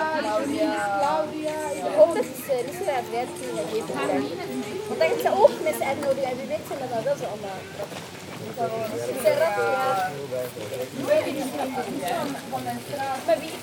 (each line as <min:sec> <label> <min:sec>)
0:00.0 young people discussing 0:13.6